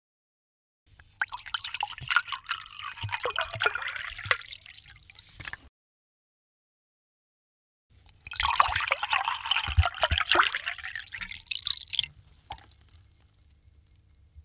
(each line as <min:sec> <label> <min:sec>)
0:01.0 Water pooring 0:05.6
0:08.1 Water pooring 0:14.4